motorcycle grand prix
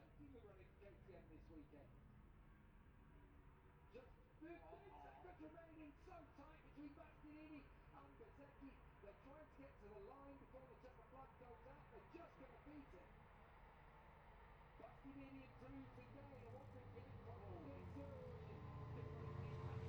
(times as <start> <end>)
14.9 19.8